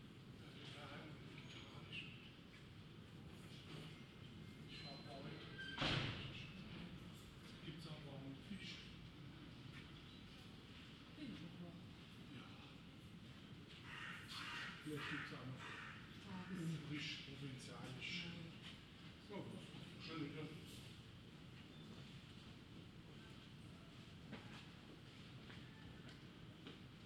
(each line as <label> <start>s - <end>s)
pedestrians 9.0s - 27.0s